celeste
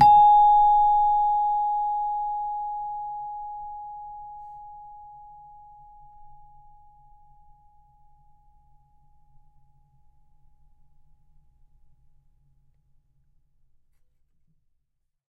0.0s 7.0s

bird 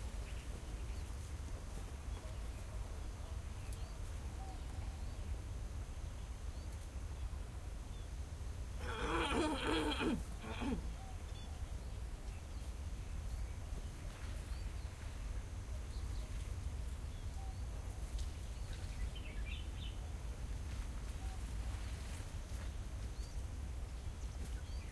8.8s 24.9s

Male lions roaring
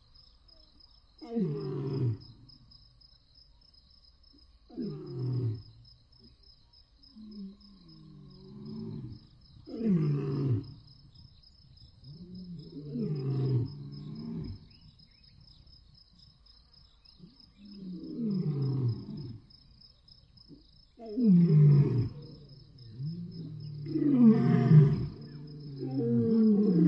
12.2s 14.7s, 21.0s 26.8s

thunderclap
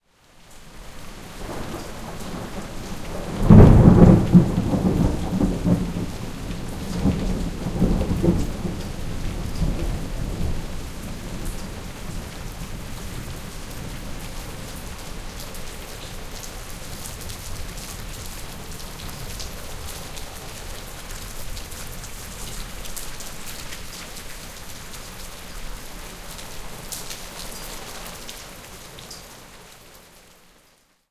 1.4s 10.5s

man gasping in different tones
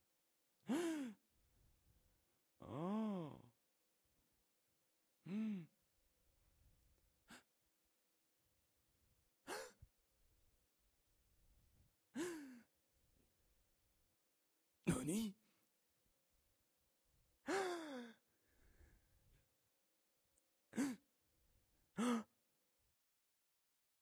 0.7s 1.2s, 2.6s 3.5s, 5.2s 5.7s, 9.5s 9.8s, 12.2s 12.7s, 17.5s 19.1s, 20.7s 21.0s, 22.0s 22.4s

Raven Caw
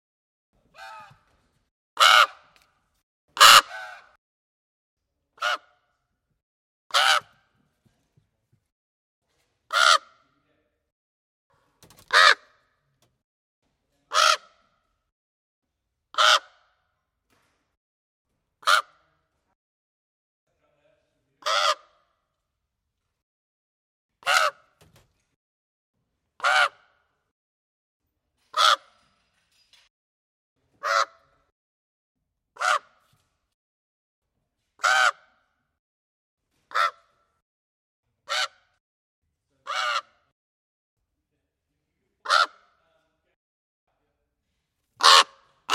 2.0s 2.6s, 3.4s 4.2s, 5.4s 5.9s, 6.9s 7.5s, 9.7s 10.3s, 12.1s 12.7s, 14.1s 14.7s, 16.2s 16.8s, 18.6s 19.1s, 21.4s 22.1s, 24.2s 24.7s, 26.4s 27.0s, 28.5s 29.0s, 30.8s 31.3s, 32.6s 33.0s, 34.8s 35.6s, 36.7s 37.2s, 38.3s 38.8s, 39.6s 40.3s, 42.2s 42.7s, 45.0s 45.7s

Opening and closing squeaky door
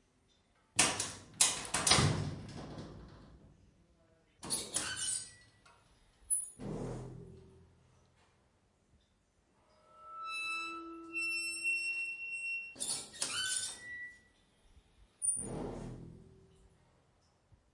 0.9s 3.2s, 4.4s 5.6s, 6.3s 7.2s, 9.6s 14.4s, 15.2s 16.3s

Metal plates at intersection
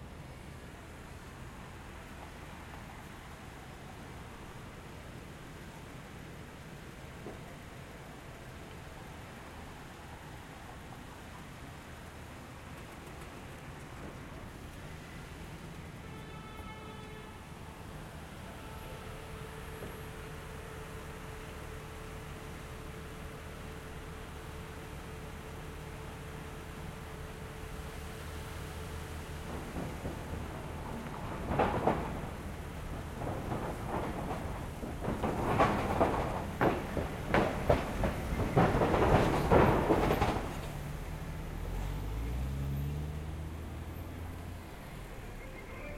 11.1s 45.9s

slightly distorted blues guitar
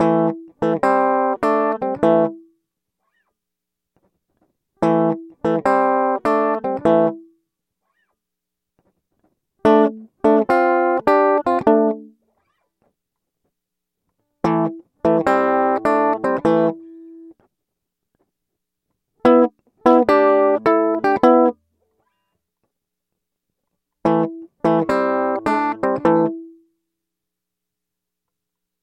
0.0s 2.5s, 4.8s 8.1s, 9.6s 12.7s, 14.4s 17.4s, 19.2s 22.3s, 24.0s 26.6s

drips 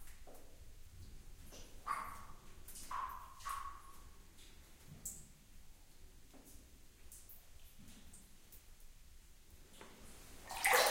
10.4s 10.9s

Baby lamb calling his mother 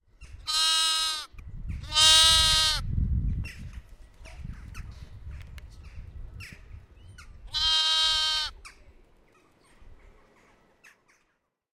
0.5s 2.8s, 7.5s 8.7s

